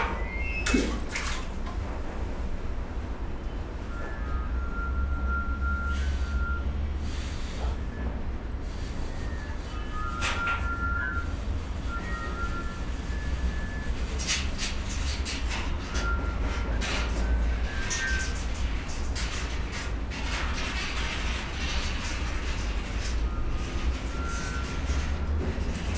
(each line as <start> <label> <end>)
0.6 water drain action 2.0